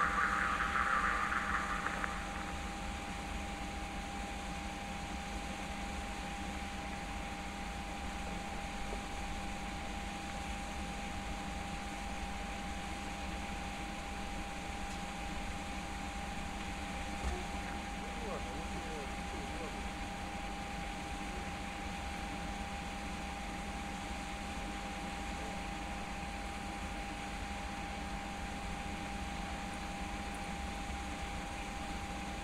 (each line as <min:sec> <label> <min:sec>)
0:00.0 Passage of a diesel locomotive 0:03.5
0:00.0 Passage of a freight train 0:03.5